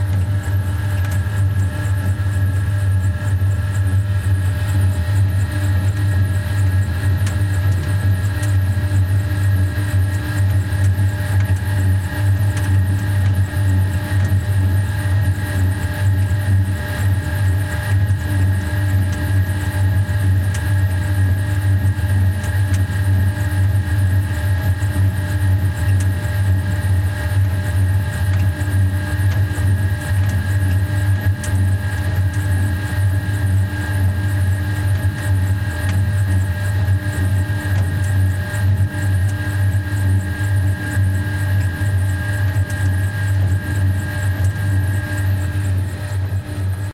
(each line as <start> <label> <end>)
0.0 medium waterpump working at a rather small pace 46.9